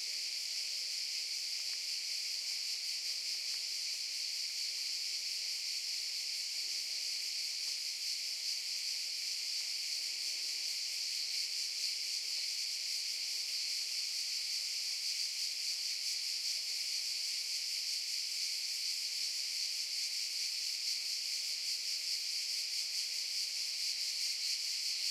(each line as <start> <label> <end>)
0.0 Cicadas 25.1